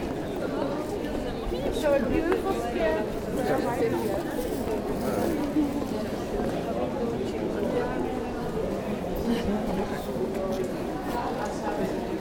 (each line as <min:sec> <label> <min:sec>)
0:00.0 tourists 0:12.2